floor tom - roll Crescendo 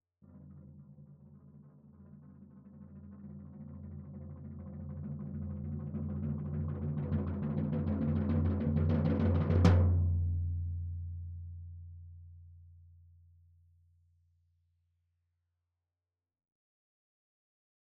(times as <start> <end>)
0.2 12.0